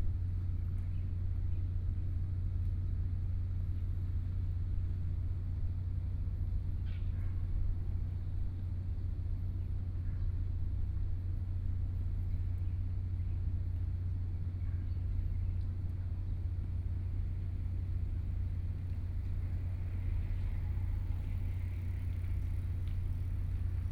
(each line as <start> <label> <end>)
0.0 Bicycle 23.9